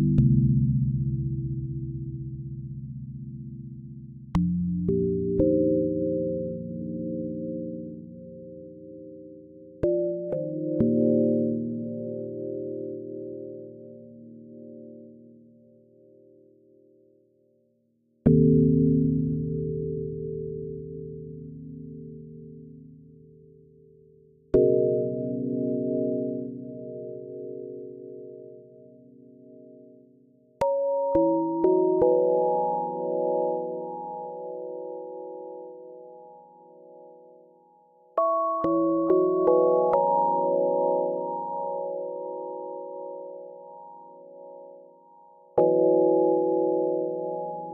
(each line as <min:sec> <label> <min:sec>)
0:30.6 Soothing bells 0:47.7